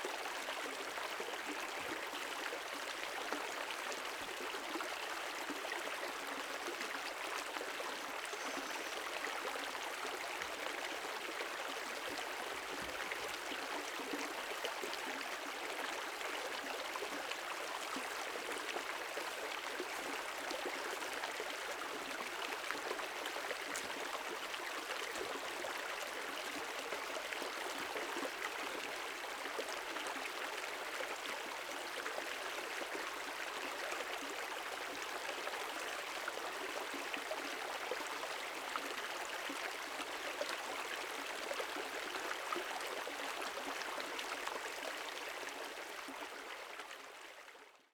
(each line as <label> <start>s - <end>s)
Brook, Stream sound 0.0s - 47.9s